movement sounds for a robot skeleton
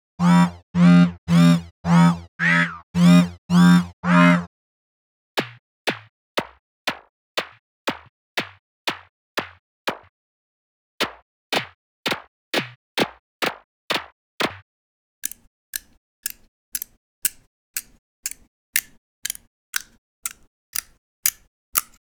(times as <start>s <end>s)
15.2s 22.0s